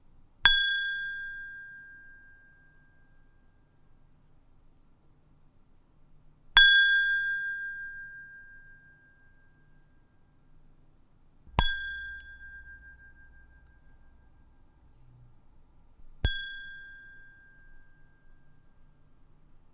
Glass ding 0.5 - 3.1
Glass ding 6.6 - 10.1
Glass ding 11.5 - 14.7
Glass ding 16.2 - 19.0

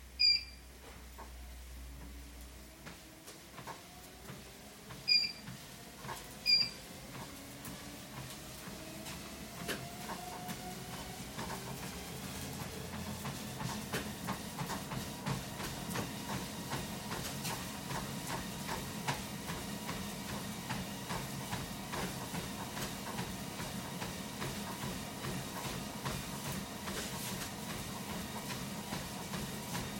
starting a treadmill and running on it 0.2 - 29.9

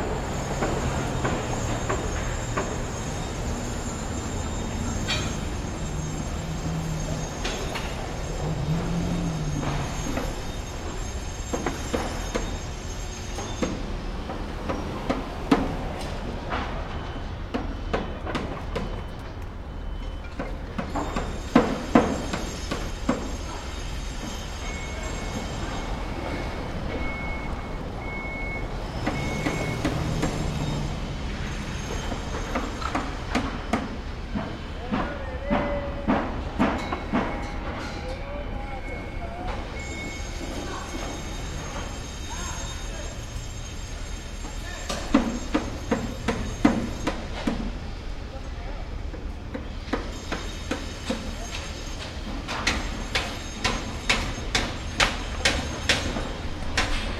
traffic 0.0 - 57.1
people 34.7 - 43.5

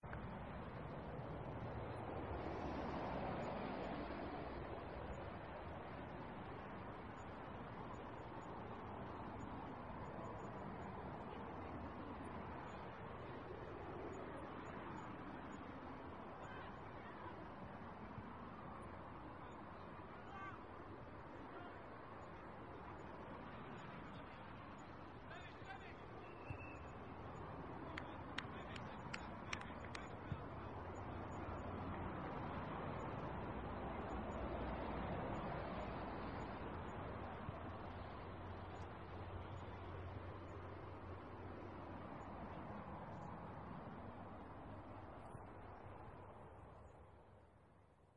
traffic 0.0 - 48.1

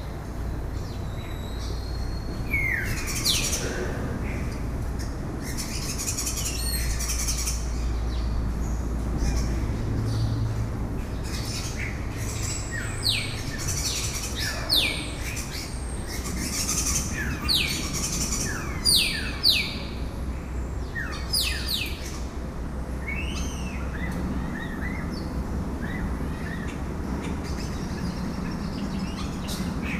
Starlings chattering in a metal shed 0.0 - 29.9

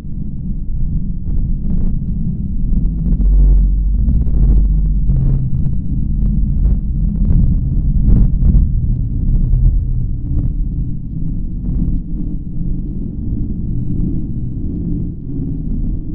pulsating softly bass sound 0.0 - 16.1

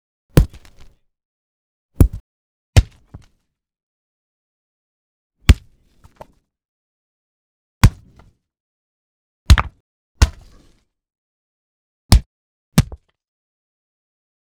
heavy rock impact on dirt 0.4 - 0.9
heavy rock impact on dirt 2.0 - 2.2

